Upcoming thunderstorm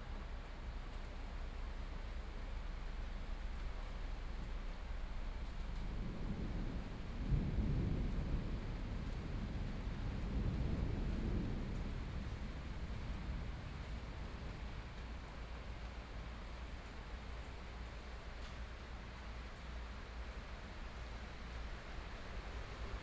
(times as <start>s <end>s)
5.2s 18.0s